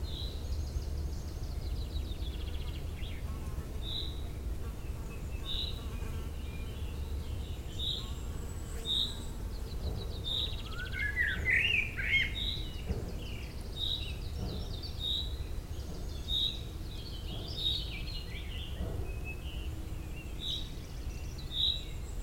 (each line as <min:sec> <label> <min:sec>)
0:00.0 common chaffinch 0:22.2
0:00.1 eurasian blackcap 0:22.2
0:04.8 blackbird 0:22.2